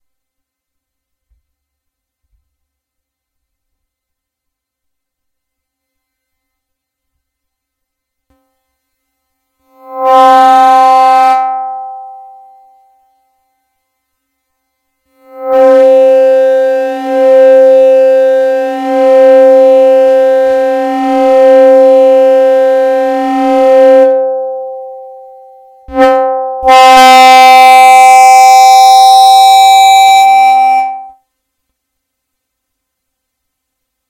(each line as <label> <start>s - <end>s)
feedback 15.2s - 31.2s